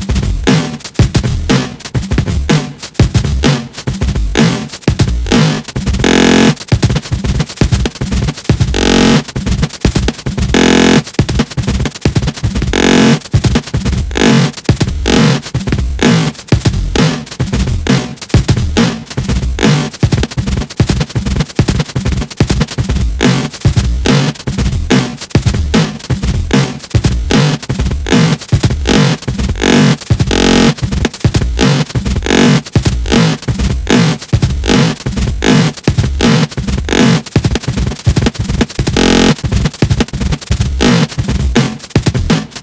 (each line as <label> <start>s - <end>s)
fine glitchyness 10.5s - 11.0s